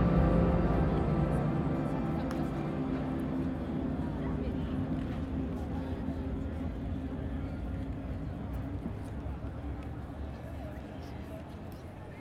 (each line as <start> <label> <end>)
0.0 musiche provenienti da più direzioni 6.9
0.0 Persone in piazza 12.2